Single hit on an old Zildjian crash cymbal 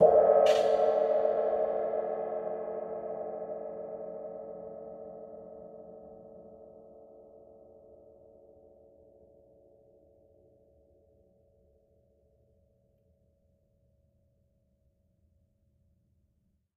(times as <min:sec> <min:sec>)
0:00.0 0:01.3